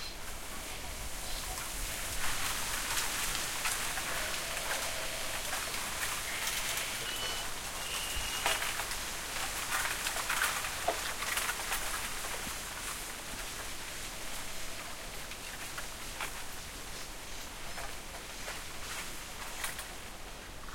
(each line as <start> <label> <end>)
0.0 insects 12.2
0.0 wind 20.7
3.8 birds 8.8